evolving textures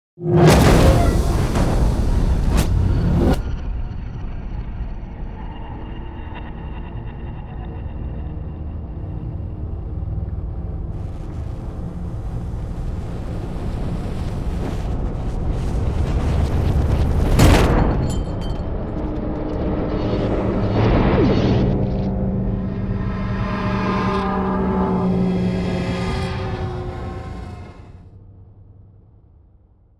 9.0 28.0

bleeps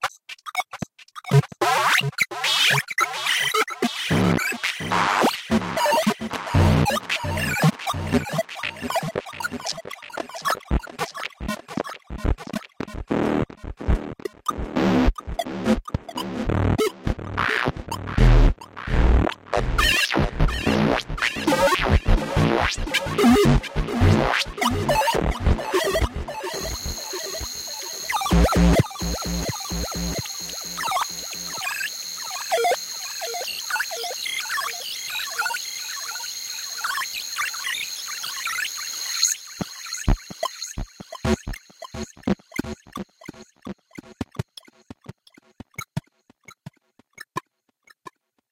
24.6 32.8

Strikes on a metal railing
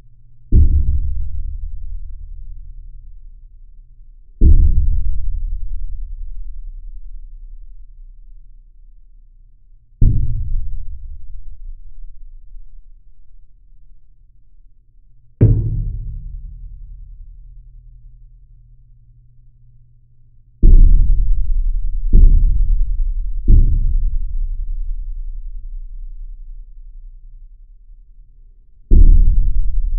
15.4 16.6

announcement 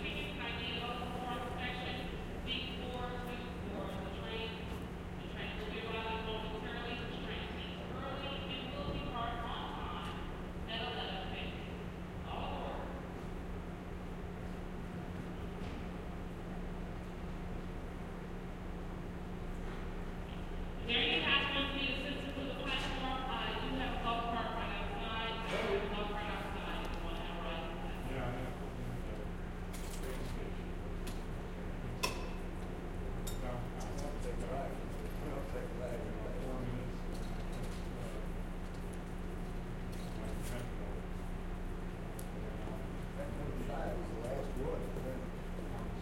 0.0 12.6, 20.8 28.1

